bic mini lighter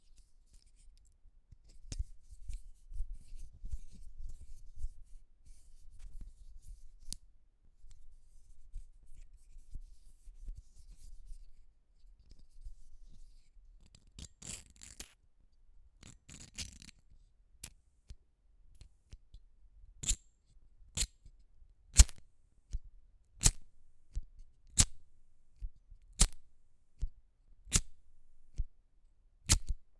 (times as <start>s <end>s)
22.0s 22.2s, 23.4s 24.0s, 24.8s 25.2s, 26.2s 26.6s, 27.7s 28.6s, 29.5s 29.7s